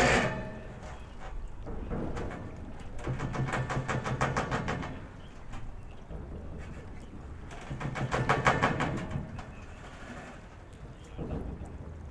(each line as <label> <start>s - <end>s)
waves 0.0s - 12.1s